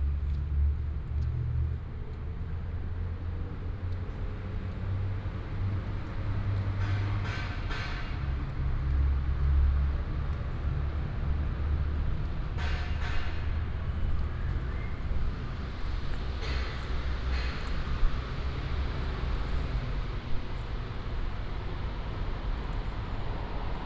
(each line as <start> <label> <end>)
0.0 Traffic sound 23.8
0.0 Walking in the park 23.8